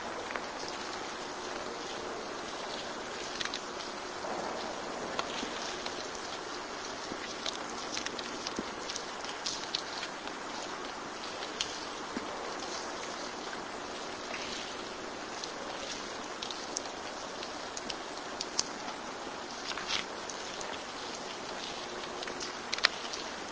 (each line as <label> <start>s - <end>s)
Loud rain drips 0.0s - 23.5s